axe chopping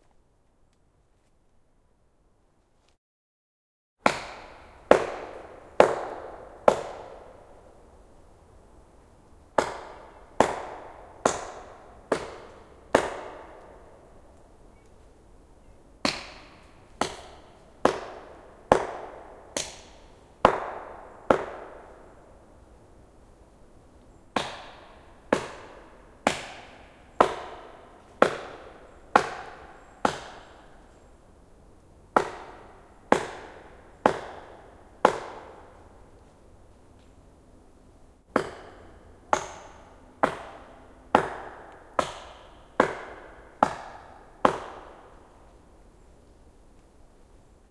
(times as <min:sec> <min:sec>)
0:04.0 0:07.2, 0:09.6 0:13.5, 0:16.0 0:21.8, 0:24.4 0:30.5, 0:32.2 0:35.7, 0:38.3 0:45.0